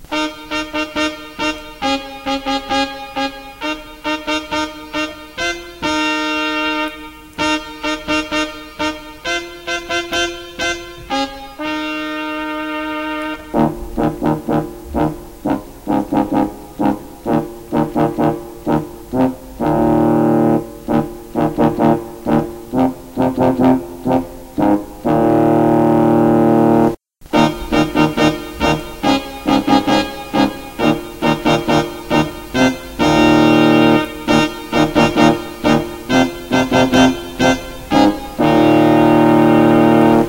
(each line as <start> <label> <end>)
0.0 keyboard 40.2